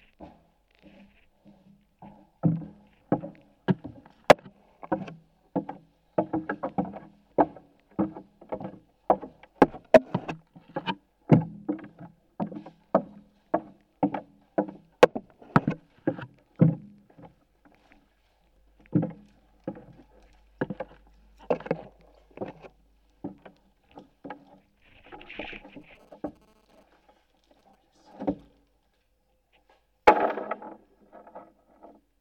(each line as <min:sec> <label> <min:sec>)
0:17.3 objetos metálicos 0:28.6